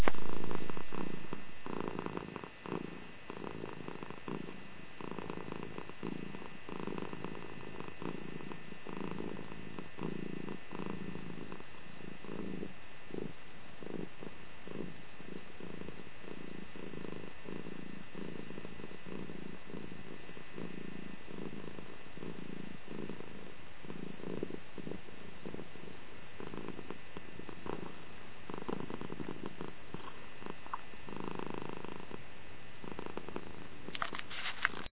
0.0s purring 34.9s

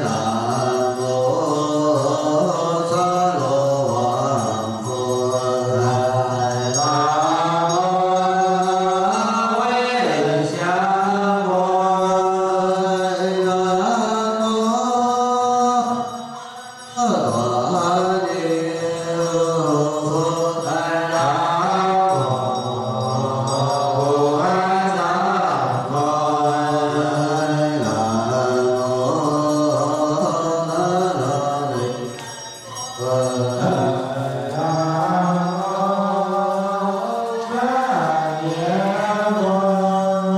0.0s Buddhist Monk Chant 40.3s

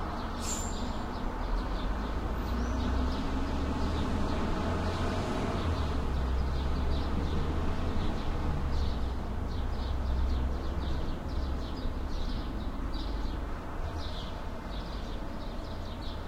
0.0s traffic 16.2s
0.2s birds 16.2s

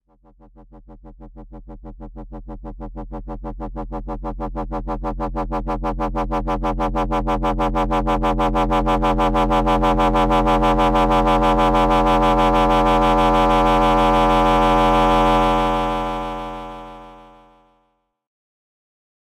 12.4s FM buildup noise 17.3s

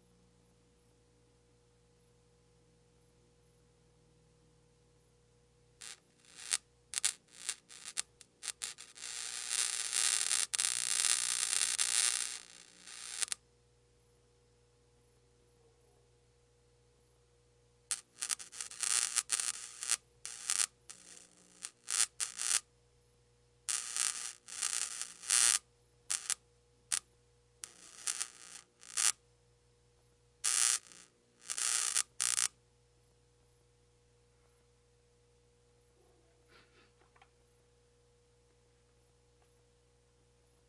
5.8s Bug Zapper1 13.4s
17.9s Bug Zapper1 22.6s
23.7s Bug Zapper1 27.0s
27.6s Bug Zapper1 29.2s
30.4s Bug Zapper1 32.5s

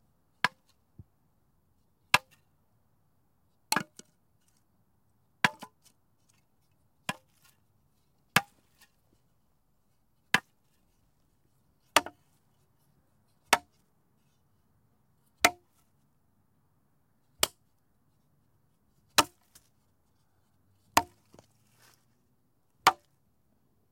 15.4s sticks hitting each other 15.7s
17.4s sticks hitting each other 17.6s
19.2s sticks hitting each other 19.6s
21.0s sticks hitting each other 21.4s
22.8s sticks hitting each other 23.1s

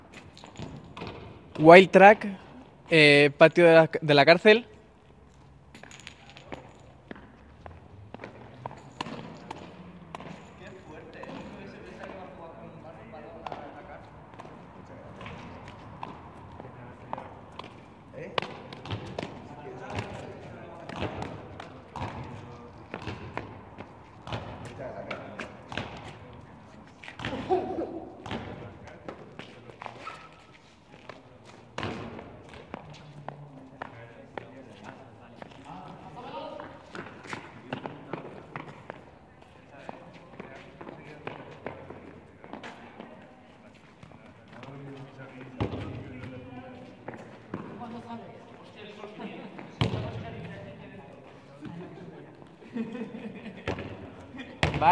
0.1s basketball 1.6s
5.7s basketball 12.5s
8.0s people 54.9s
13.3s basketball 43.2s
43.9s basketball 48.0s
49.6s basketball 50.6s
53.6s basketball 54.9s

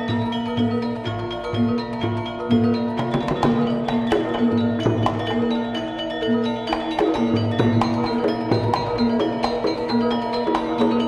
0.0s gamelan melody 11.0s

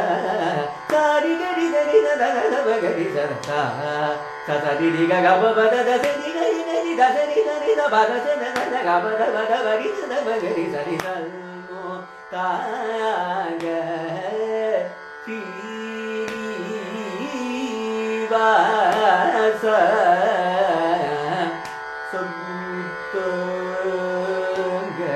0.0s sung by Prasanna 25.1s

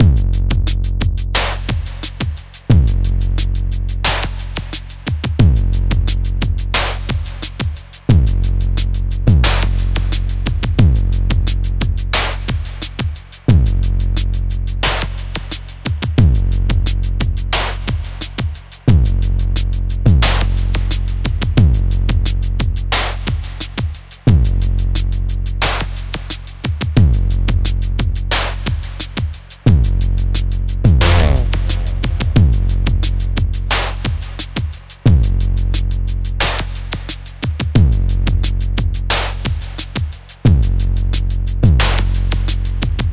30.9s percs 32.7s

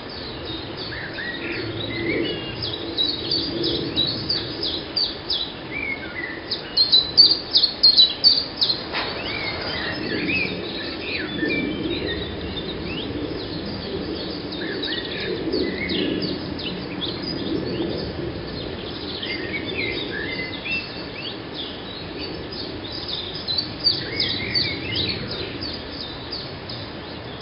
0.0s plane flies by 6.5s
0.1s blackbird 27.4s
8.5s plane flies by 27.4s

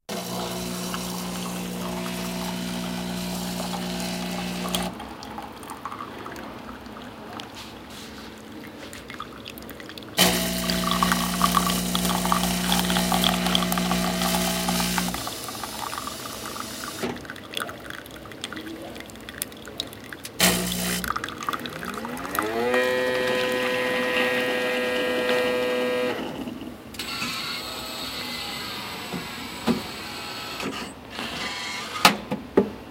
0.1s machine spewing out the coffee pod 4.9s
0.1s Automatic coffee machine 6.0s
0.1s water filling 26.0s
0.1s coffee pouring into a cup 26.3s
10.2s machine spewing out the coffee pod 17.2s
10.2s Automatic coffee machine 17.4s
20.3s Automatic coffee machine 32.2s
20.4s machine spewing out the coffee pod 21.2s
22.0s machine spewing out the coffee pod 26.2s

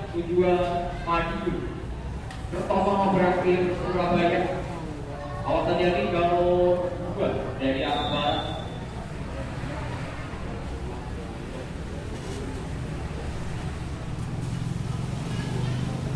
7.6s Announcement of a train about to arrive 8.8s

